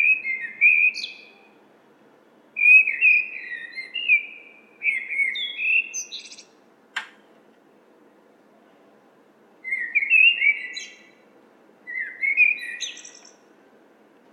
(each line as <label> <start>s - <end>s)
blackbird singing 0.0s - 1.4s
blackbird singing 2.6s - 6.6s
distant noise of people entering the building 6.5s - 9.7s
blackbird singing 9.6s - 11.2s
blackbird singing 11.9s - 13.4s